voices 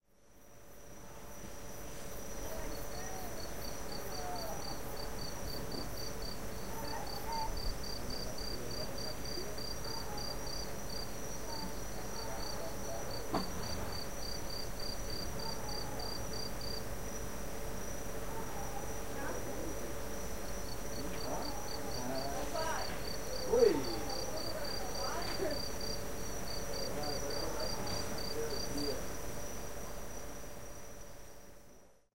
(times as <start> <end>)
2.4 14.4, 17.6 30.4